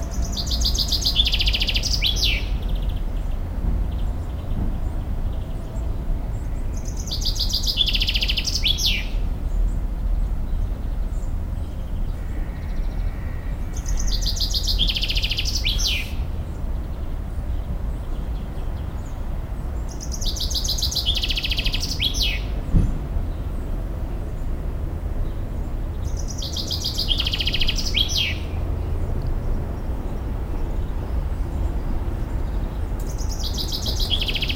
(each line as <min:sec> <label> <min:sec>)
0:00.0 morning bird 0:09.8
0:10.5 morning bird 0:19.2
0:19.8 morning bird 0:23.4
0:26.0 morning bird 0:28.6
0:30.5 morning bird 0:34.5